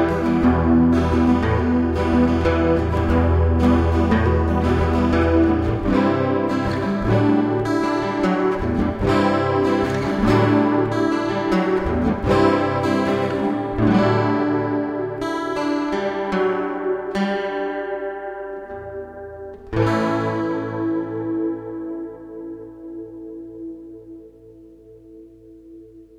Acoustic guitar with chorus effect 0:00.0 - 0:26.1

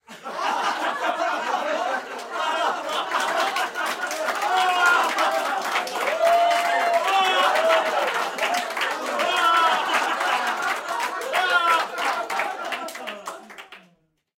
cheering 0:00.2 - 0:13.9
applause 0:01.6 - 0:14.1

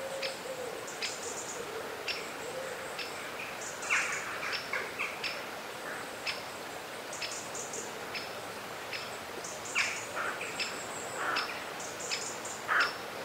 river 0:00.0 - 0:13.2
bird song 0:08.9 - 0:13.0

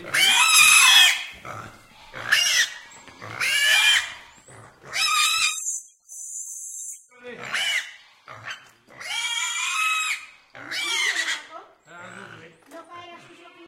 young pigs' slaughter 0:00.0 - 0:05.7
young pigs' slaughter 0:07.3 - 0:12.5

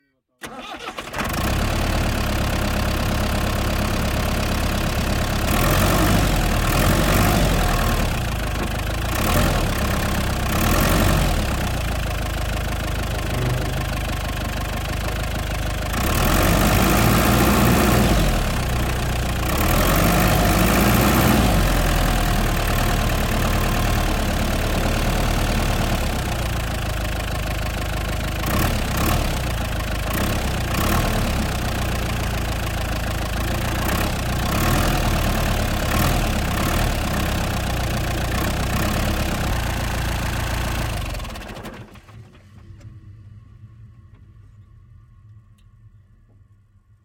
engine onboard start up idle gas pressing short acceleration 0:00.4 - 0:44.4
clunk 0:13.1 - 0:14.7

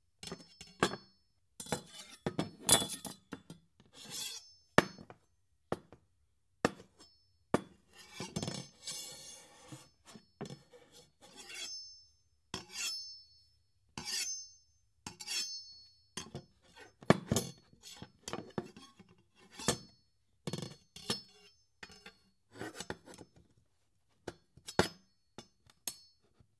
Kitchen Knife Scrape Clang Zing Various 0:01.6 - 0:03.2
Kitchen Knife Scrape Clang Zing Various 0:04.0 - 0:04.6
Kitchen Knife Scrape Clang Zing Various 0:11.3 - 0:12.0
Kitchen Knife Scrape Clang Zing Various 0:12.6 - 0:13.2
Kitchen Knife Scrape Clang Zing Various 0:14.0 - 0:15.8

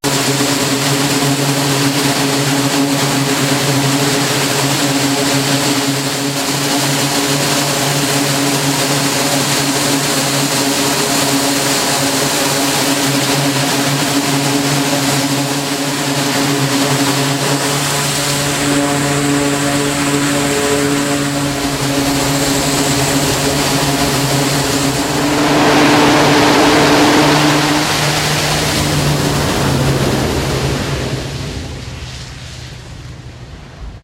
aircraft launches using the Electromagnetic Aircraft Launch System 0:00.0 - 0:34.0

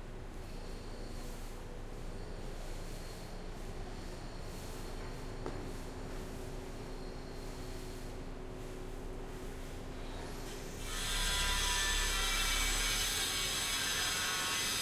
HVMC Sweeping 0:00.2 - 0:14.8
construction work 0:00.2 - 0:14.8

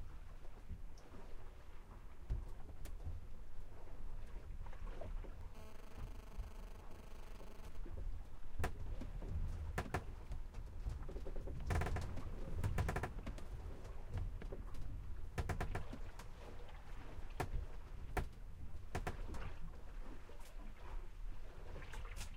Sailboat Sailing Interior 0:00.0 - 0:22.3
water 0:00.0 - 0:22.3
creak 0:05.5 - 0:13.5
creak 0:15.4 - 0:16.2
creak 0:18.2 - 0:19.6

